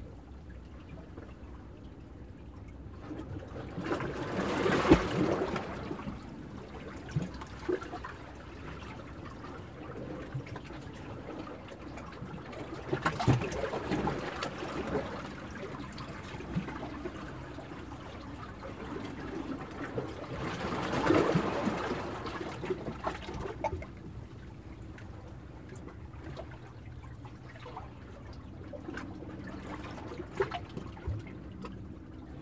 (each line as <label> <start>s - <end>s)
waves being broken up from within the rocky jetty 3.2s - 10.4s
waves being broken up from within the rocky jetty 12.6s - 24.2s